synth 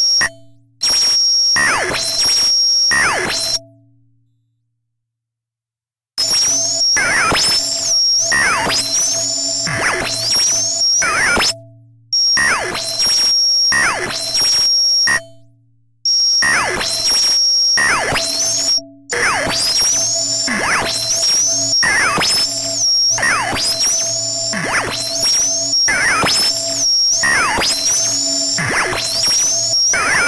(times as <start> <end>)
6.2 13.3, 16.6 30.2